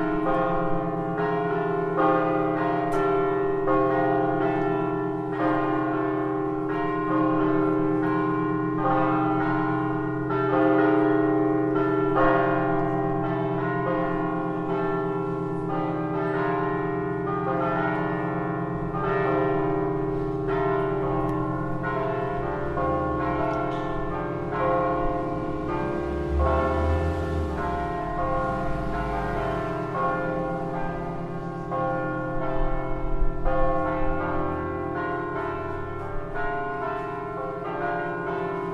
church bells ringing 0.0 - 38.7

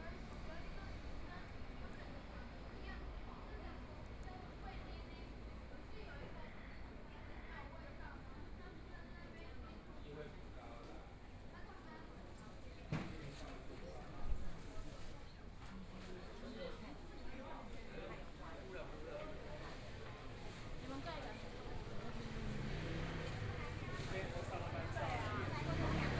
Walking across the different streets 20.0 - 26.1
Traffic Sound 21.8 - 26.1

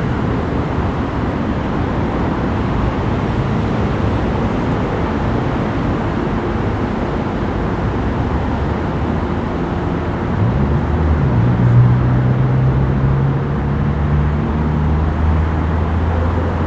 constant traffic 0.0 - 16.6

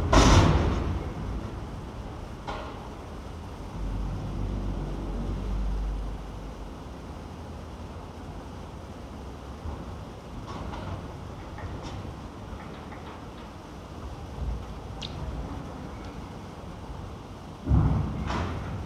thundering of the grabber into the barge 0.0 - 1.2
heavy traffic 3.6 - 7.1
thundering of the grabber into the barge 17.6 - 18.8

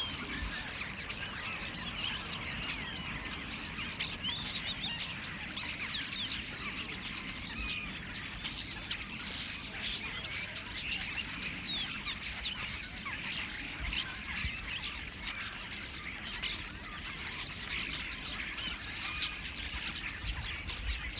Starlings gather on railyard lighting rigs 0.0 - 21.1

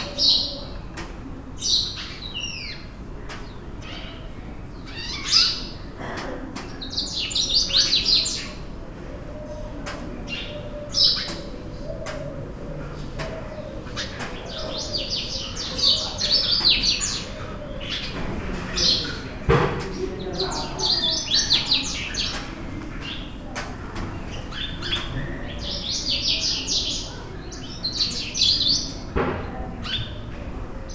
Distant voice 2.9 - 30.9

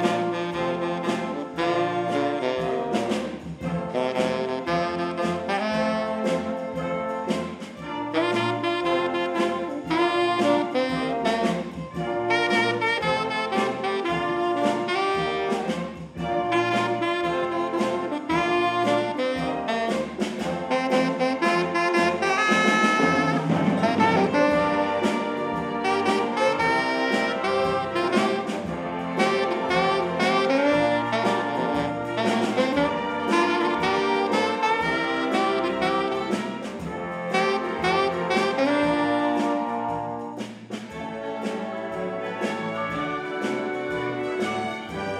Orchestre 0.0 - 45.1

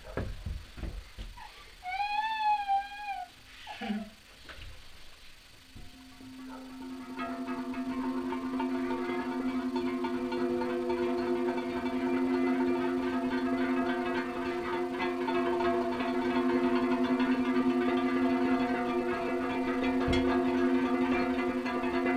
resonance ensemble 5.6 - 22.1

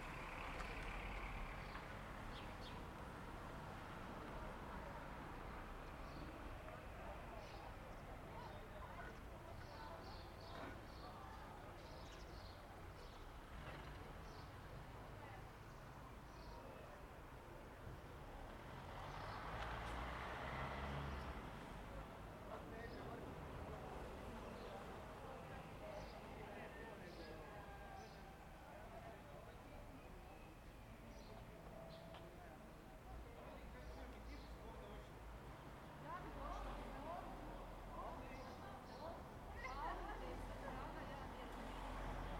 Birds (common house martin) singing 0.0 - 2.9
Birds (common house martin) singing 5.8 - 6.4
Birds (common house martin) singing 9.6 - 14.6
Birds (common house martin) singing 15.6 - 16.8
Birds (common house martin) singing 25.6 - 26.3
Birds (common house martin) singing 29.5 - 32.2
Birds (common house martin) singing 33.4 - 35.1
Birds (common house martin) singing 38.0 - 39.9

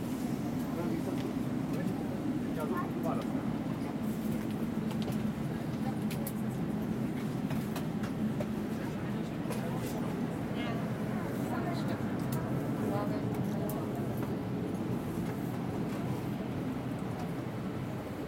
entering plane 0.0 - 18.2

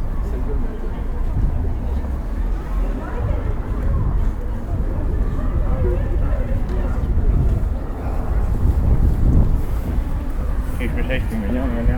people on the street talking in different languages 0.0 - 11.9

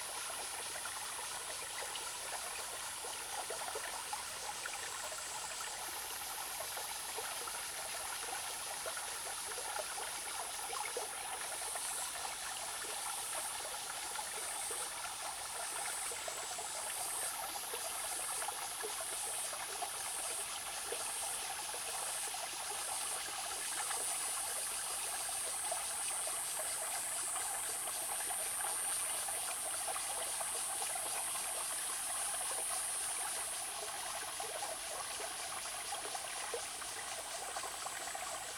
Small streams 0.0 - 38.5

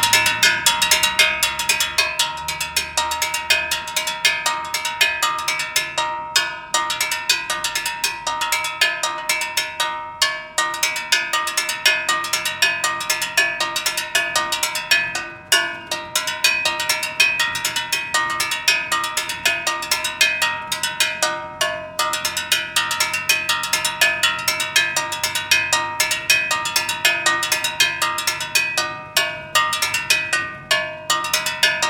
Gas Seller Percussion 0.0 - 31.8

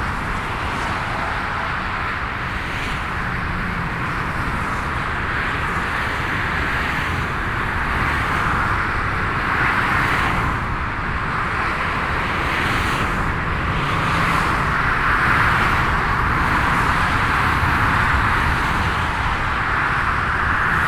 walking to the middle of the motorway bridge and back 0.0 - 20.8

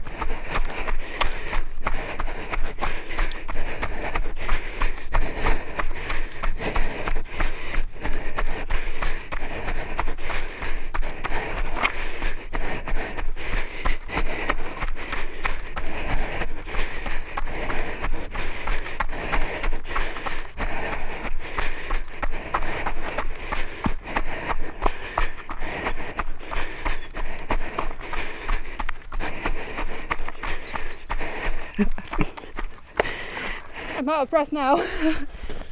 Running Girl 0.0 - 35.7

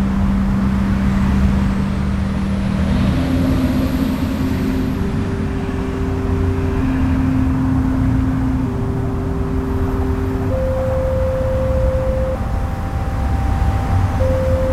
Strong traffic noise 0.0 - 14.7
outdoor audio installation 0.0 - 14.7

